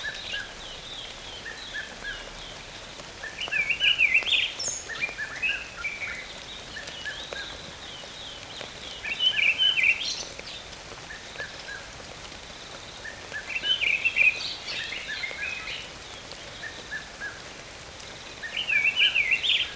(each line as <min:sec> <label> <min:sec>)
0:00.0 Birds singing in the rain 0:19.7
0:00.0 Light rain 0:19.7